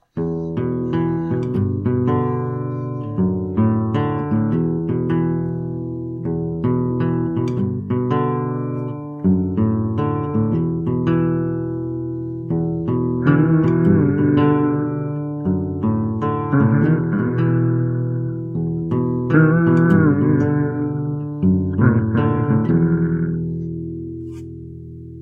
human humming sound 0.0 - 3.6
solo classical guitar rhythm 0.0 - 25.2
human humming sound 13.2 - 24.5

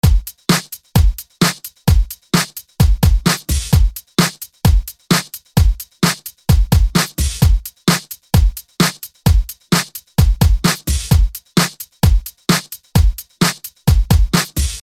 Kick Drum 0.0 - 14.8
Snare 0.5 - 0.8
Snare 1.4 - 1.7
Snare 2.4 - 2.6
Snare 3.3 - 4.5
Snare 12.5 - 12.8
Snare 13.4 - 13.7
Snare 14.3 - 14.8

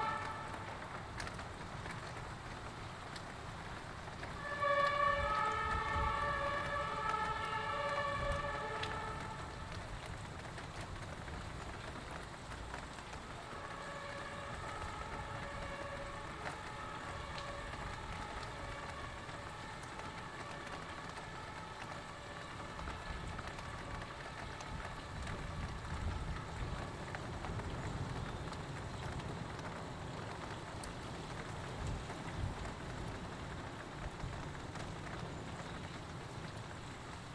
firetrucks which are speeding of with sirens 0.0 - 12.2
Wind 0.0 - 37.3
hailstones hitting the window 0.0 - 37.3
rain and water noises 0.0 - 37.3
firetrucks which are speeding of with sirens 12.8 - 37.3

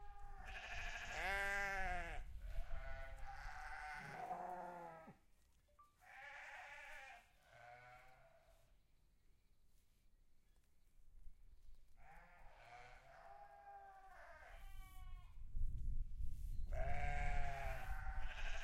cattle 0.0 - 5.2
Sheep 0.0 - 8.8
Sheep 11.7 - 15.4
Sheep 16.6 - 18.6

